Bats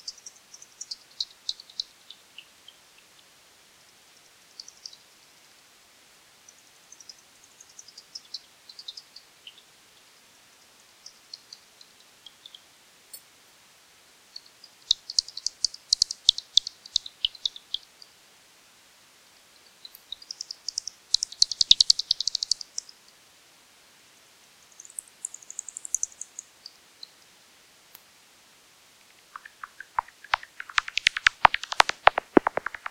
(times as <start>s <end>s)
20.1s 22.9s, 24.7s 26.8s, 29.1s 32.9s